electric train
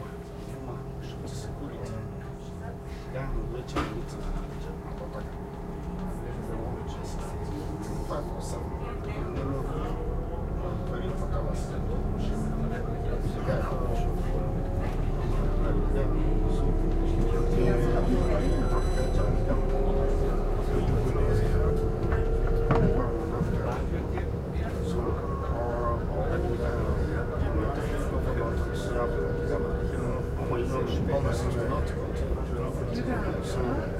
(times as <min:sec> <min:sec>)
0:09.1 0:33.9